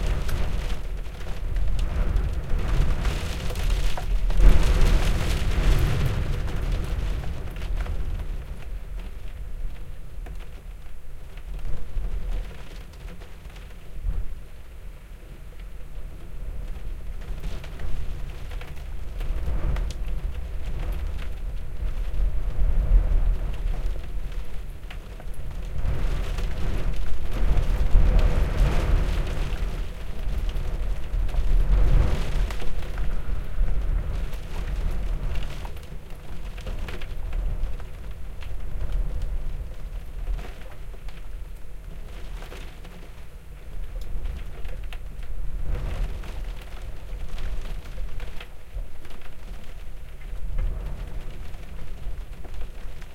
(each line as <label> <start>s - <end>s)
stormy weather battering the North East coast 0.0s - 10.4s
stormy weather battering the North East coast 16.0s - 53.1s